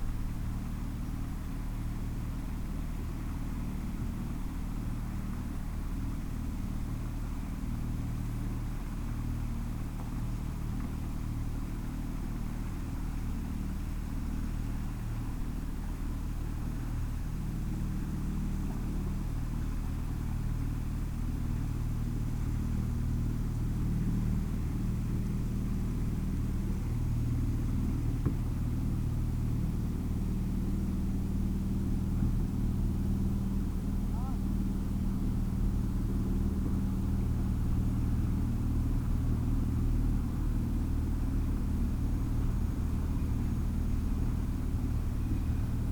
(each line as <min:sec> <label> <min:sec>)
0:00.0 Boats in the river 0:45.9